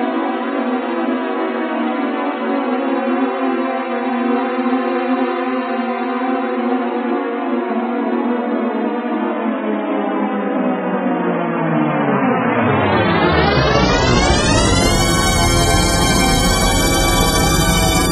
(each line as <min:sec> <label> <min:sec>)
0:12.5 deep note 0:18.1